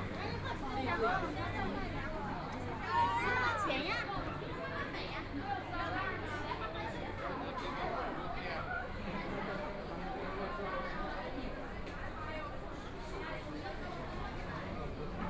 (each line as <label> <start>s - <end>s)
Very large number of tourists 0.0s - 15.2s